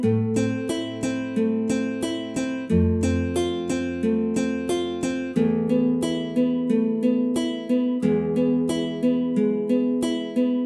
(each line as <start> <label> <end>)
0.0 guitar 10.6